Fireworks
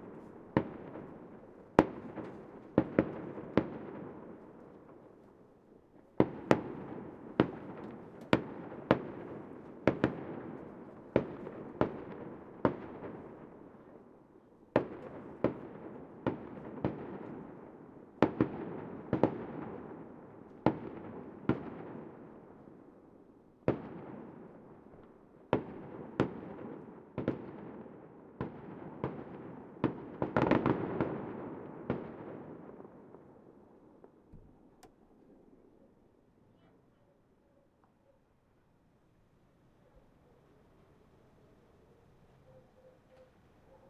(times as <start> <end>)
0.0 5.4, 6.0 23.0, 23.6 34.8